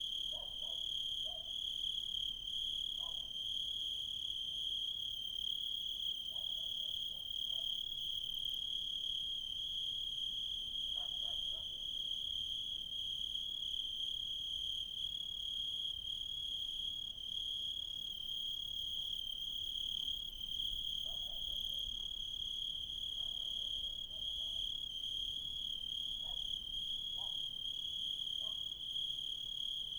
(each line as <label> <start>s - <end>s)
dogs barking 0.3s - 1.5s
dogs barking 23.2s - 24.6s
dogs barking 26.2s - 26.5s
dogs barking 27.2s - 27.4s
dogs barking 28.4s - 28.7s